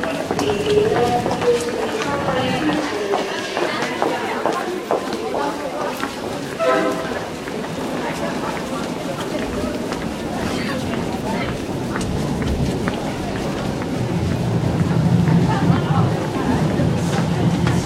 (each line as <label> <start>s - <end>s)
distant trains 0.0s - 17.8s
people talking 0.0s - 17.8s
announcement 0.1s - 3.9s
footsteps 0.1s - 10.2s
announcement 6.5s - 8.2s
'toot' from a train horn 6.6s - 7.4s